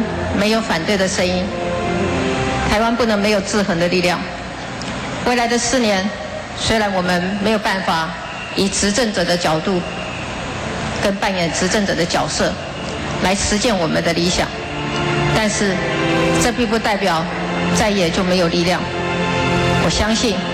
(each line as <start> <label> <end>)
2.6 Concession speech 4.4
11.0 Concession speech 12.6
15.2 Concession speech 19.0
19.6 Concession speech 20.5